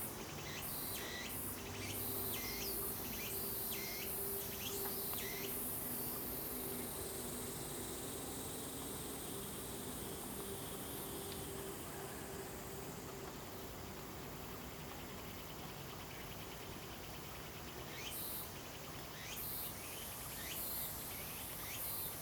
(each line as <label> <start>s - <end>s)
Cicadas cry 0.0s - 12.5s